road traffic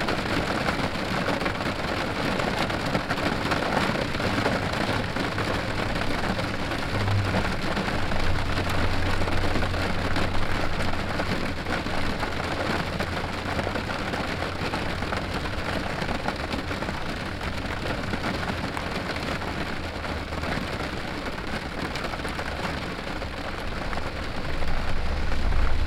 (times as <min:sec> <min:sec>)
0:03.8 0:20.8, 0:22.4 0:25.8